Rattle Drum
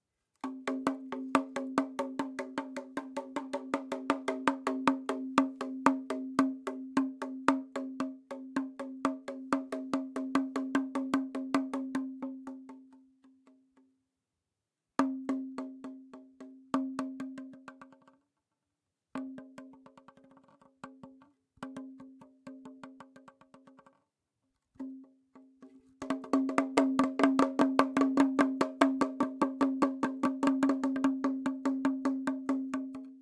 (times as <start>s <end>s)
26.0s 33.0s